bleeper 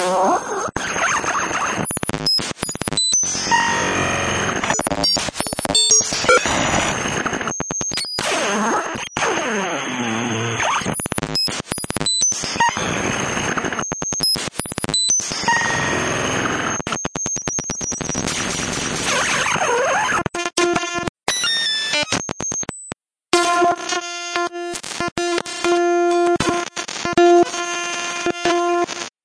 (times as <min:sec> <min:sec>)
0:04.7 0:06.9